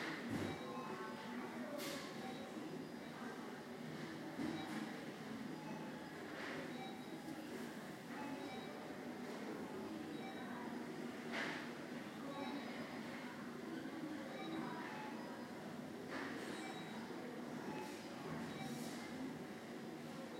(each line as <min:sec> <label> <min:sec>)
0:06.7 beeps 0:07.2
0:10.1 beeps 0:10.5
0:12.3 beeps 0:12.7
0:14.3 beeps 0:15.3
0:16.5 beeps 0:18.9